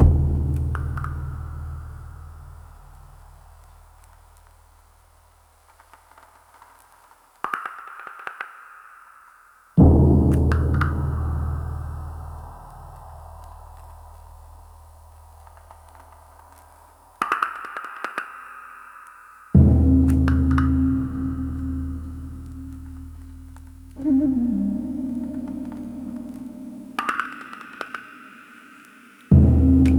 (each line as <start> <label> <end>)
19.6 low tones 27.7